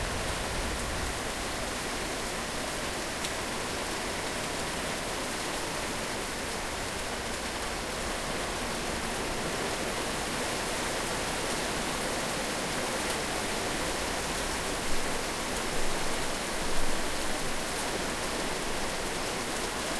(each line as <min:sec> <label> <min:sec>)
0:00.0 thunder 0:02.0
0:00.0 heavy rain coming down in the garden 0:19.9